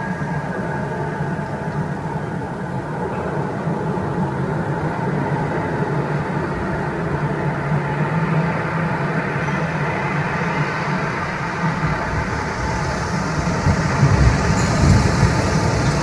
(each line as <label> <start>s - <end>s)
Wind 0.0s - 16.0s
windchimes 13.4s - 16.0s